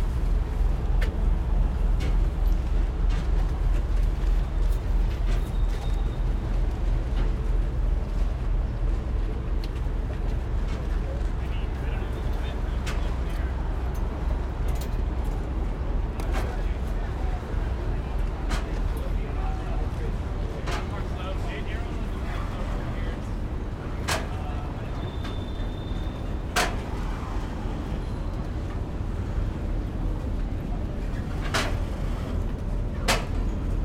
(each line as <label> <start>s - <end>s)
Rockaway Ferry docking 0.0s - 33.8s